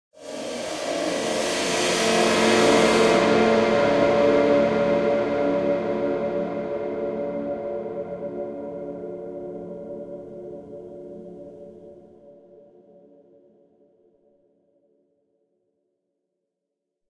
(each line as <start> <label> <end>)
0.2 bowed crash cymbal 7.2